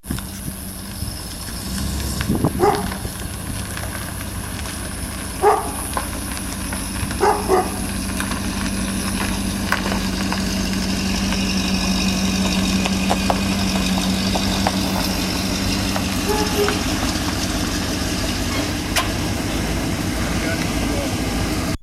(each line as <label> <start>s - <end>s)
Motor Home sound 0.0s - 21.8s
dog in background 5.4s - 5.8s
dog in background 16.2s - 17.0s